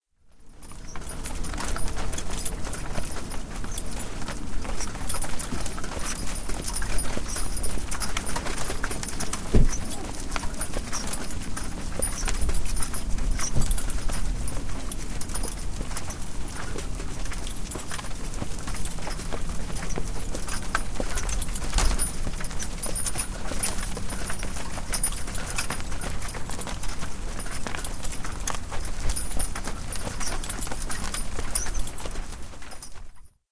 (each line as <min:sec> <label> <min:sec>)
0:00.2 single-horse carriage rolling on a grass and gravel path 0:33.4
0:00.3 hooves 0:33.4